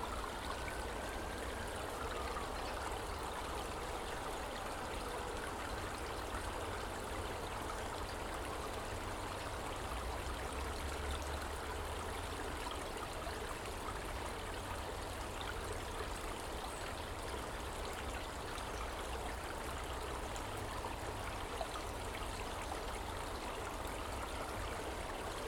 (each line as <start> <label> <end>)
0.0 Water 25.4
0.0 sirens 6.2